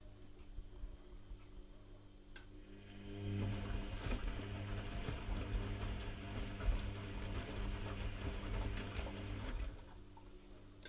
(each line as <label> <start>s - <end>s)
washing machine 2.6s - 10.2s